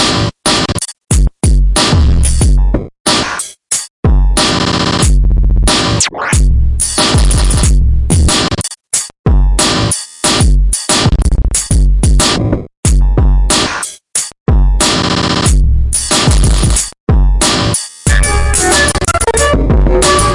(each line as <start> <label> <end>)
0.0 Various Drum Samples 20.3